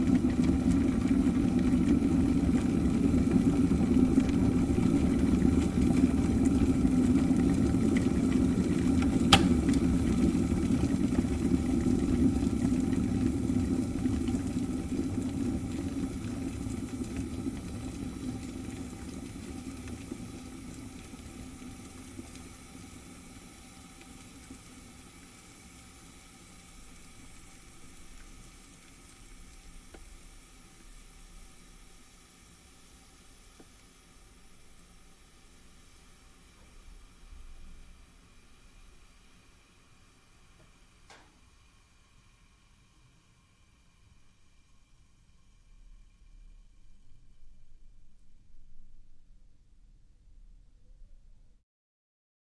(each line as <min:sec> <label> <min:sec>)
0:00.0 Electric kettle 0:48.7
0:00.0 boiling water 0:51.2
0:09.3 Switch-on-klick 0:09.8